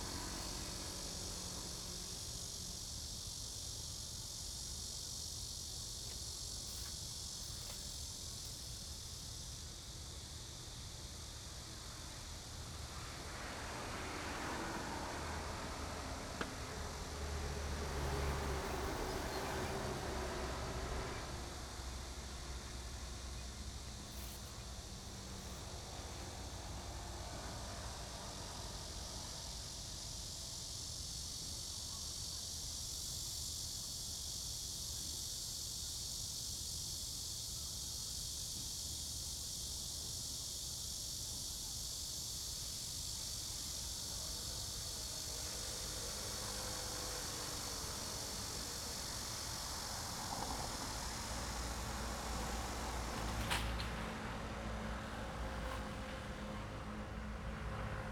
traffic sound 0.0 - 31.4
Cicada cry 0.0 - 58.1
traffic sound 39.5 - 58.1
The train runs through 43.1 - 58.1

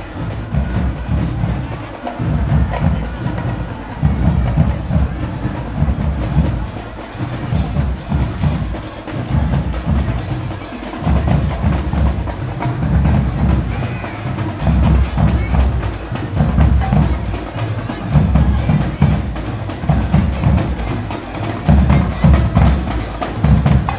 marching bands 0.0 - 23.9

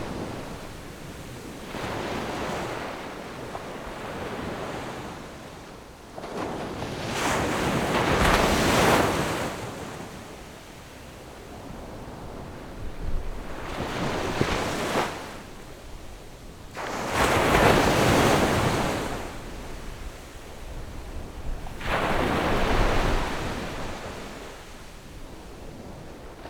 waves 0.0 - 26.4

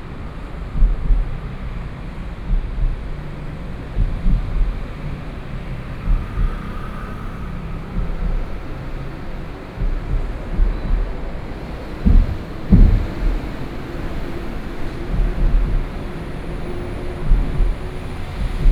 Traffic Noise 0.0 - 18.7
Train traveling through 0.0 - 18.7

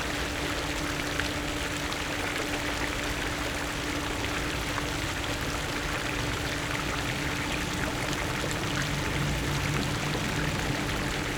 Fountains 0.0 - 11.3

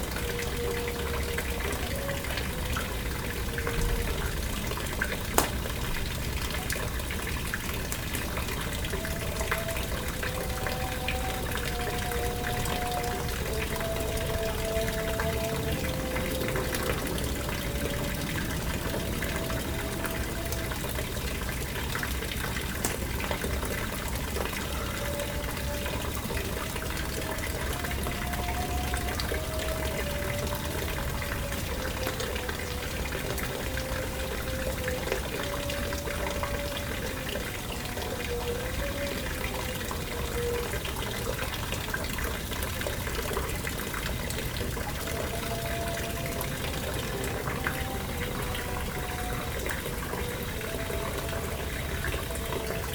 fountain 0.0 - 52.9
charcoal fire 4.2 - 6.8
distant evening call for prayer 7.8 - 41.3
charcoal fire 21.9 - 24.4
distant evening call for prayer 44.6 - 52.9

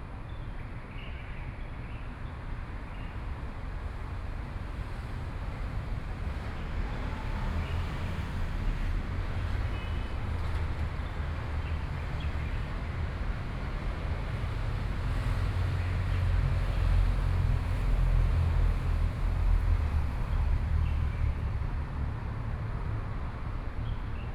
Traffic Sound 2.1 - 24.3

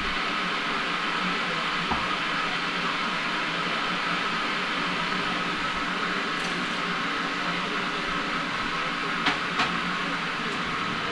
kettle 0.0 - 11.1
radio 0.0 - 11.1

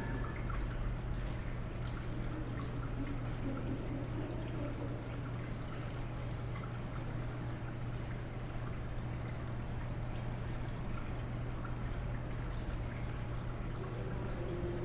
rainwater running on the tracks 9.6 - 14.8

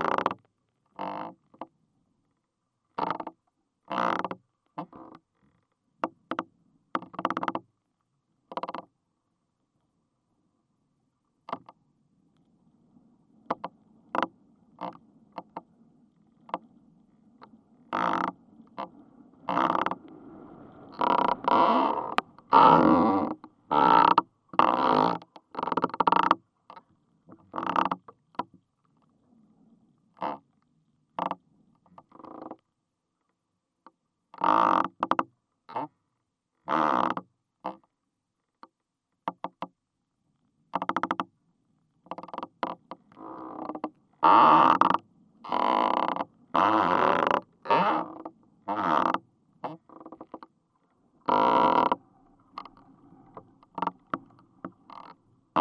Crackling is recorded inside the tree 0.0 - 9.0
firs are suffering with the wind 11.7 - 25.2
Crackling is recorded inside the tree 13.3 - 29.4
Crackling is recorded inside the tree 30.1 - 55.6

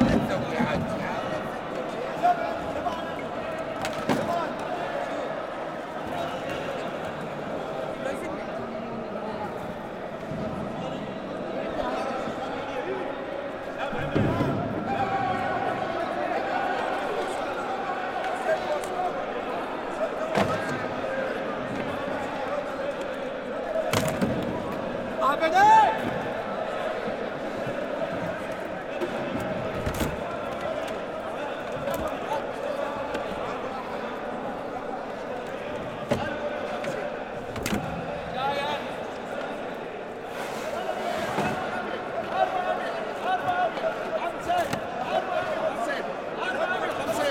merchants as they shouted out their prices 0.0 - 47.3

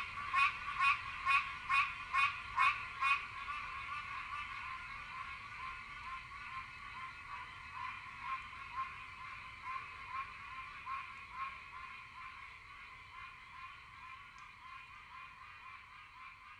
pine barrens tree frog 0.0 - 16.5

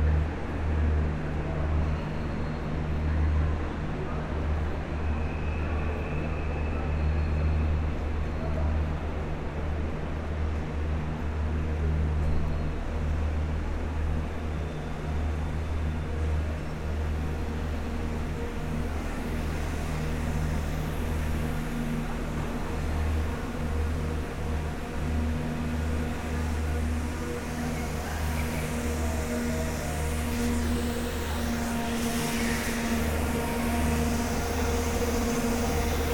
diesel engines flood the huge station with a heavy drone sound 0.0 - 36.1

